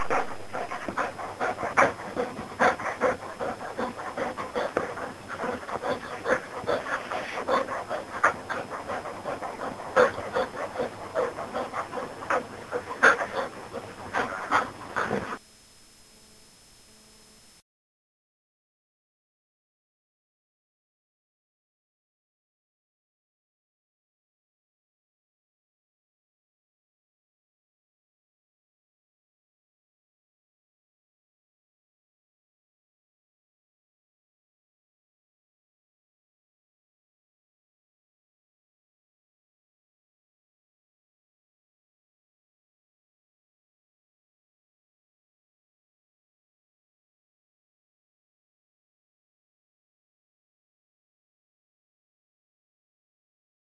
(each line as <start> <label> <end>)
0.0 dog 15.4